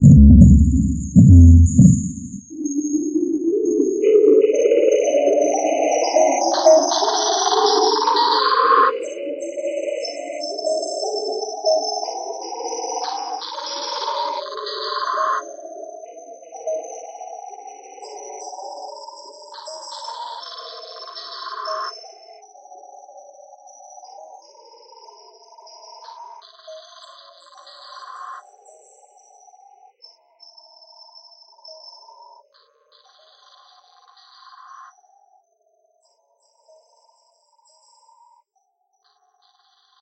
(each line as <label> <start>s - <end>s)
drum synth 0.0s - 2.5s